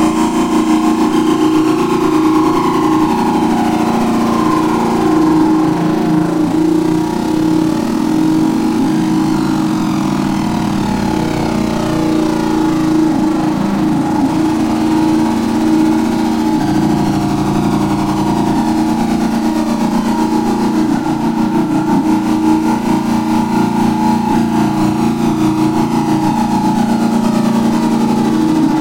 riser 0.0 - 28.5

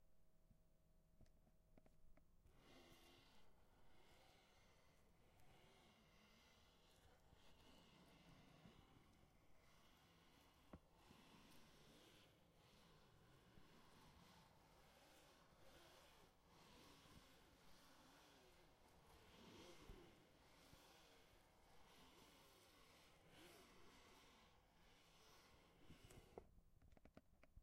eraser is wiping the pencil line on the paper 2.6 - 26.4

